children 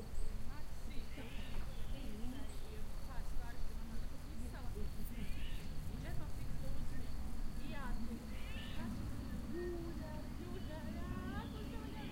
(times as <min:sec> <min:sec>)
0:04.1 0:12.1